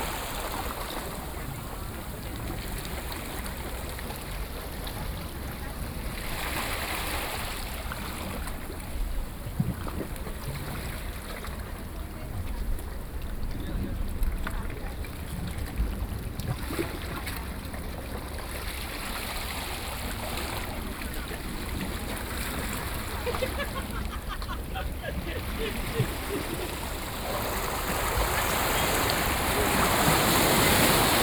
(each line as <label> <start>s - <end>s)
Ocean waves crashing 0.0s - 2.4s
Ocean waves crashing 20.8s - 31.2s